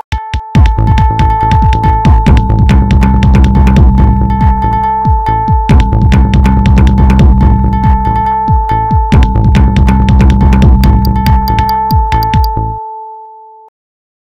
0.1s drums 12.6s
0.6s synth 13.1s

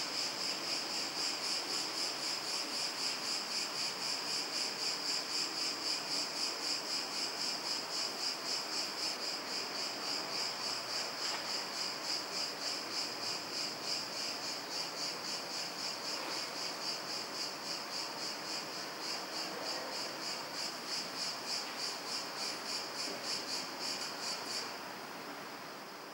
0.0s cicadas 26.1s

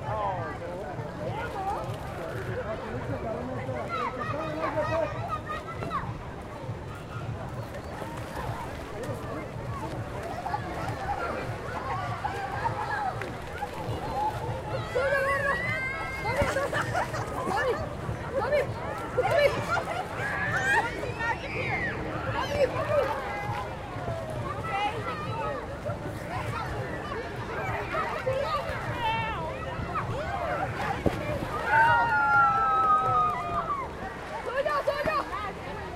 0.0s hotel guests both in and out of the pool 35.9s
0.0s playing with inflatable balls 35.9s
7.6s splashing 35.9s

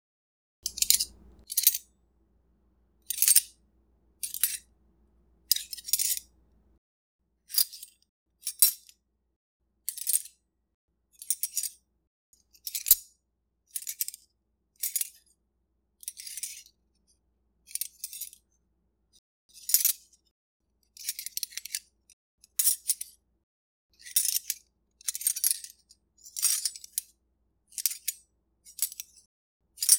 0.6s silverware spoon and fork handling and sliding one another 1.9s
3.1s silverware spoon and fork handling and sliding one another 3.6s
4.2s silverware spoon and fork handling and sliding one another 4.8s
5.5s silverware spoon and fork handling and sliding one another 6.7s

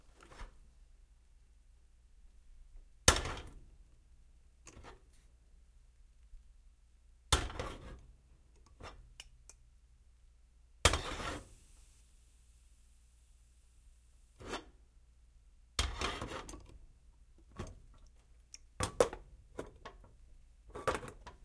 10.9s kettle on stove 14.5s

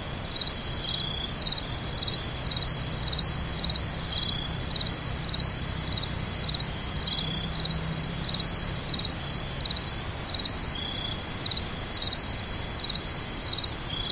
0.0s Frogs sang in the forest above me 14.1s
0.0s crickets sang in the pasture 14.1s

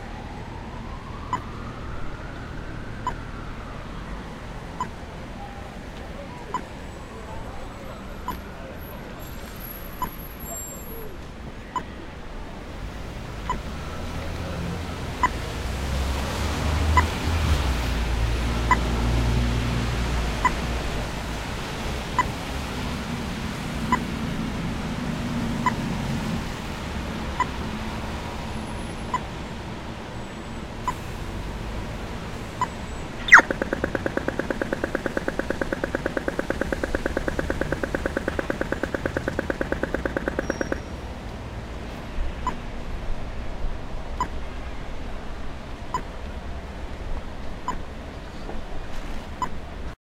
0.0s Traffic Light 43.2s
0.0s Traffic 50.0s

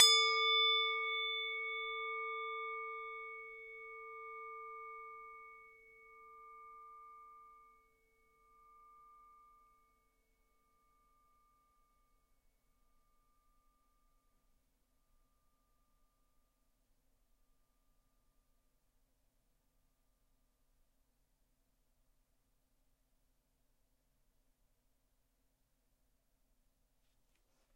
0.0s Singing bowl struck 10.0s

